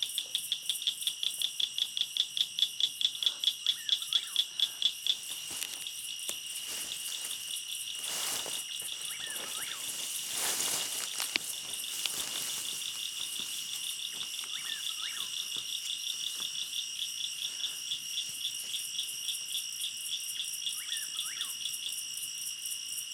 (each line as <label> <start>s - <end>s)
Insects 0.0s - 23.1s
Birds 6.8s - 18.0s